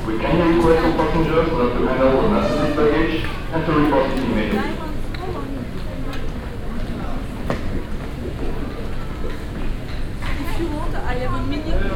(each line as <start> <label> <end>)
0.0 announcements 5.8
0.0 voices 7.8